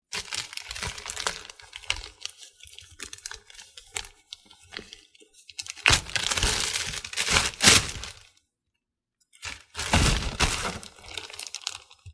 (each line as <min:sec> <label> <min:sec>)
0:09.6 placing lunch in a paper bag 0:11.3